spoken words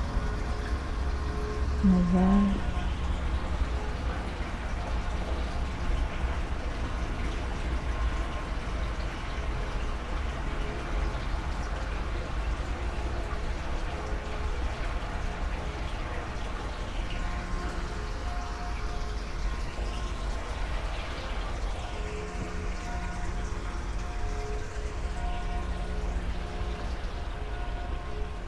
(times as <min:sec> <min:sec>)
0:01.8 0:02.6